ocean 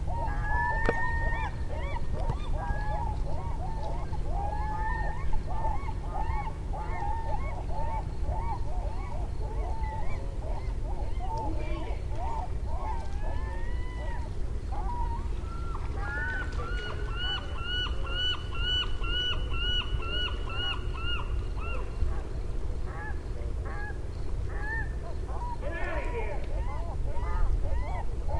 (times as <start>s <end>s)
0.0s 22.2s